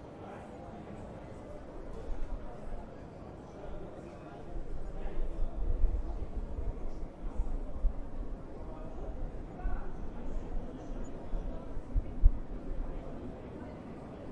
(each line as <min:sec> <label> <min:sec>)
0:00.0 Crowd 0:14.3